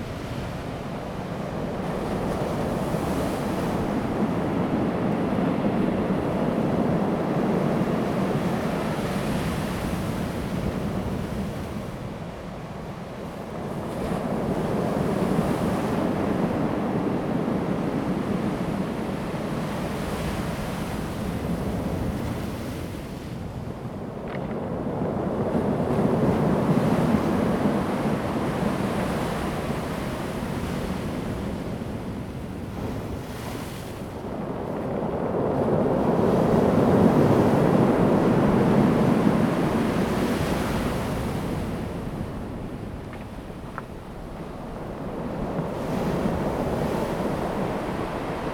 waves 0.0 - 48.5
wind 0.0 - 48.5

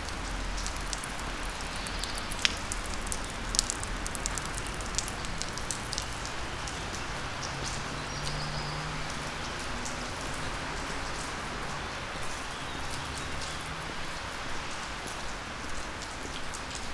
rain 0.0 - 16.9

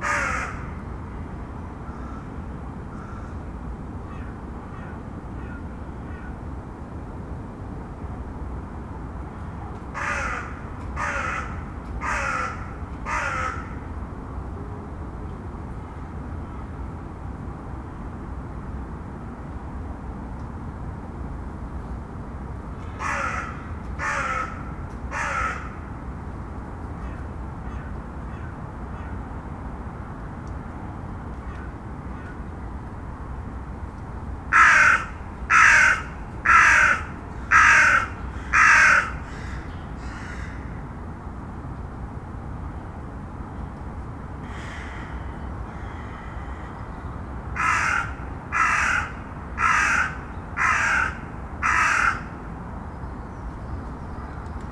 distant calls from the crows 0.0 - 1.2
distant calls from the crows 1.8 - 6.4
distant calls from the crows 9.9 - 13.9
distant calls from the crows 22.8 - 26.0
distant calls from the crows 27.0 - 29.3
distant calls from the crows 31.4 - 32.5
distant calls from the crows 34.5 - 41.0
distant calls from the crows 44.4 - 52.5

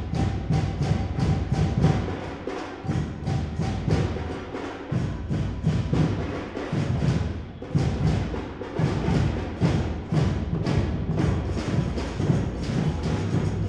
drummer performance 0.0 - 13.6

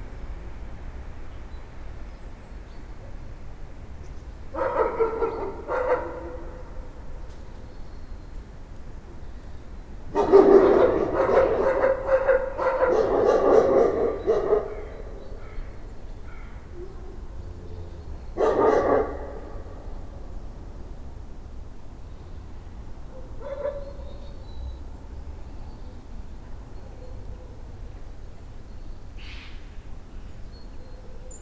old but still nasty dog is barking 4.5 - 6.9
old but still nasty dog is barking 10.1 - 15.7
old but still nasty dog is barking 18.3 - 20.1
old but still nasty dog is barking 23.1 - 24.1

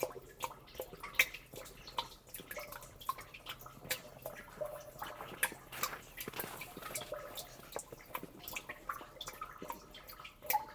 rhytmic water dripping in rain drenage well 0.0 - 10.7

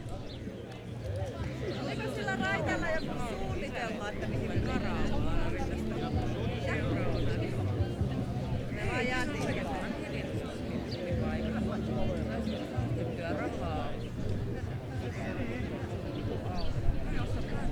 young people spending time with their friends 0.0 - 17.7

